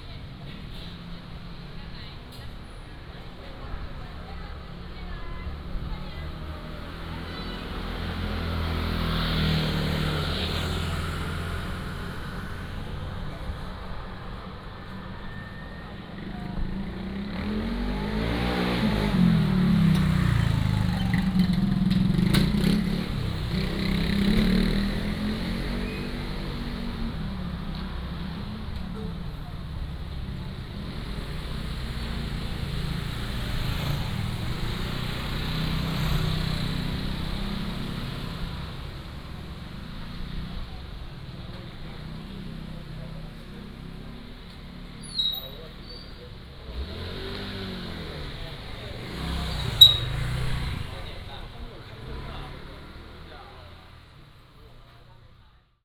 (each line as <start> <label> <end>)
0.0 Traffic 55.8
0.0 Walking in the Street 55.8